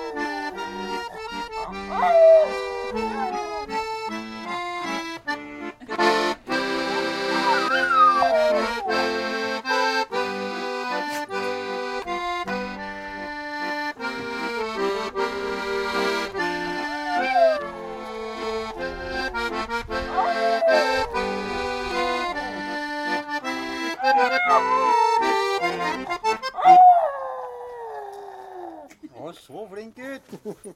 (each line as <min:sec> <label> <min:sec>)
0:00.0 Dog singing 0:04.0
0:00.0 accordion is being played 0:27.0
0:05.6 laughter 0:07.0
0:06.9 Dog singing 0:09.3
0:16.5 Dog singing 0:19.2
0:20.0 Dog singing 0:22.6
0:24.0 Dog singing 0:27.3
0:30.2 laughter 0:30.7